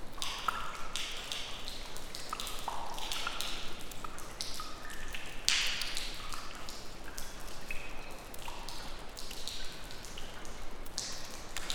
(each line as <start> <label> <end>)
0.0 Raindrops from leaking roof 11.7